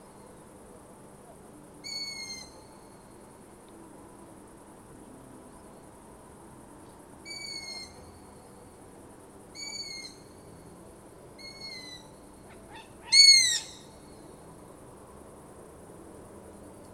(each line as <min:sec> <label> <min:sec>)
0:01.8 Long-eared Owl 0:02.7
0:07.2 Long-eared Owl 0:08.0
0:09.5 Long-eared Owl 0:10.3
0:11.4 Long-eared Owl 0:14.0